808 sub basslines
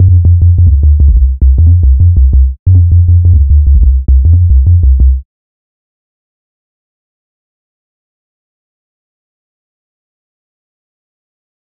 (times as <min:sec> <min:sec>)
0:00.0 0:05.2